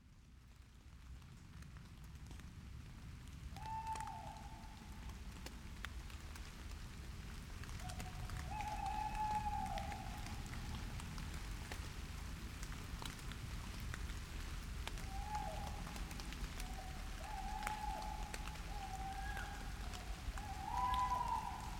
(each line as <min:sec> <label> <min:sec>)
0:00.0 gentle Rain 0:21.7
0:03.6 Tawney Owls 0:04.8
0:07.8 Tawney Owls 0:10.5
0:15.0 Tawney Owls 0:16.0
0:16.6 Tawney Owls 0:21.7